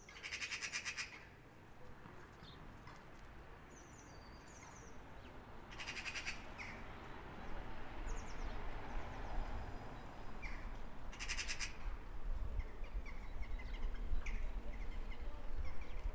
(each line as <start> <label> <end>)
3.7 birds sing even louder 11.8
12.4 birds sing even louder 16.1